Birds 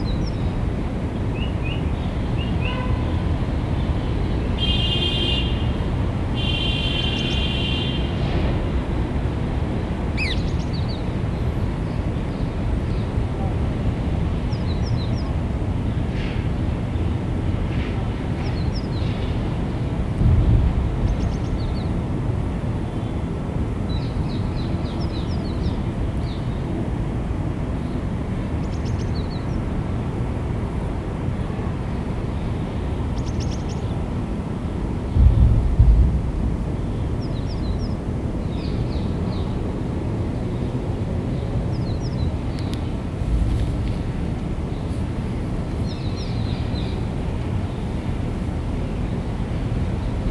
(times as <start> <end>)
10.1 13.6, 36.7 48.1